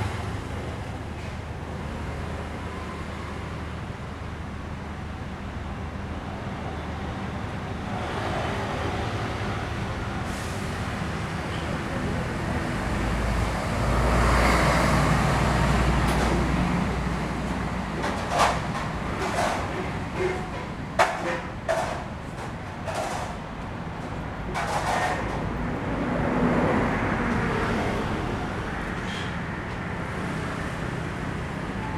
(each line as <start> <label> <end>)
0.0 Traffic Noise 31.9
10.1 Restaurants are finishing cleaning 26.0